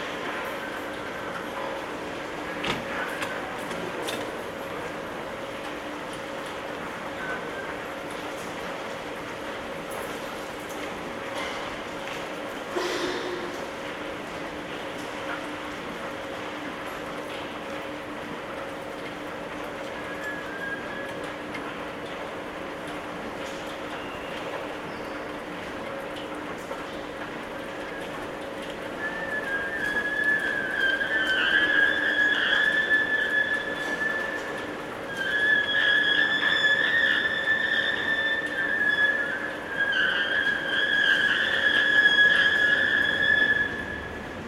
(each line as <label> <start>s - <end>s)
screaming escalator 11.1s - 44.4s